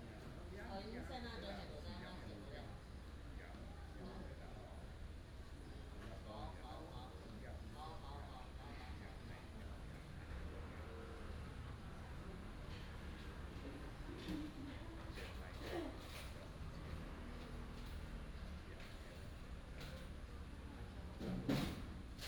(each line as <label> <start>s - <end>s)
traffic sound 9.9s - 21.2s